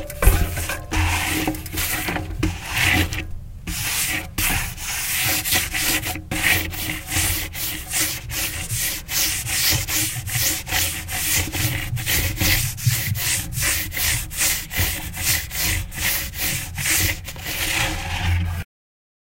0.0s Hand touching a spinning bike tire 3.2s

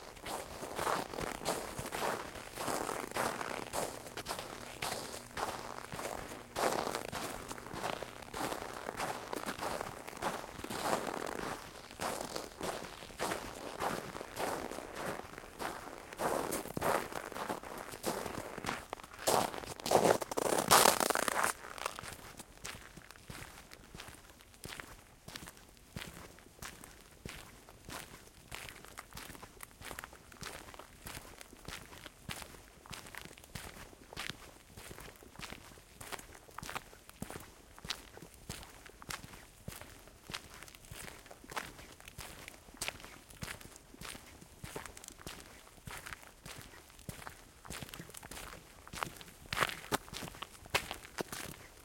0.0s walking through snow 24.8s

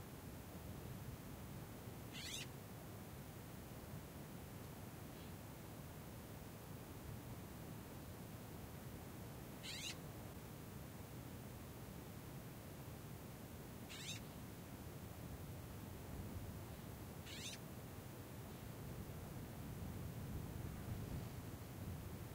2.2s Birds call/response 2.5s
9.6s Birds call/response 10.0s
13.9s Birds call/response 14.2s
17.3s Birds call/response 17.6s

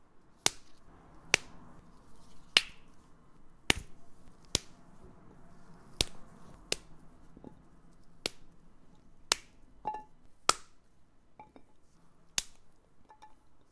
0.0s traffic sounds 13.7s
0.3s Carrots snapping 4.9s
5.7s Carrots snapping 8.6s
9.2s Carrots snapping 9.6s
10.4s Carrots snapping 10.8s
12.3s Carrots snapping 12.7s

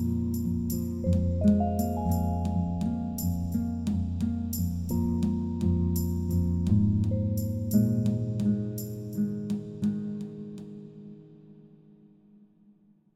0.1s Ethno Ambient Music 6.3s

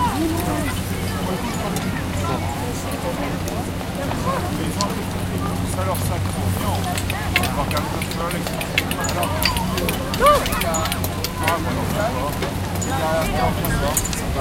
0.0s kids 14.4s
6.6s Peolpe chatting 11.7s

